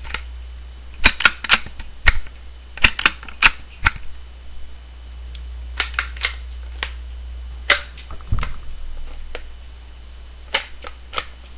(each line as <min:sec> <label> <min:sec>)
0:01.0 magazine removal/insertion 0:04.0
0:05.8 Bolt Action rifle handling 0:06.9
0:05.8 magazine removal/insertion 0:07.0
0:07.7 magazine removal/insertion 0:08.5